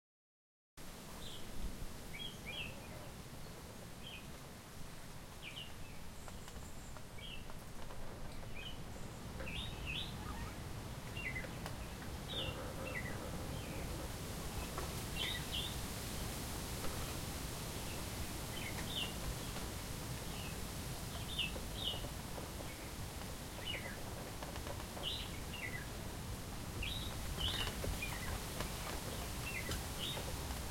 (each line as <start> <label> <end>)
0.8 leaves rustle in the wind 30.7
6.2 Bamboos creaks as they hit each others with the wind 10.4
21.1 Bamboos creaks as they hit each others with the wind 30.7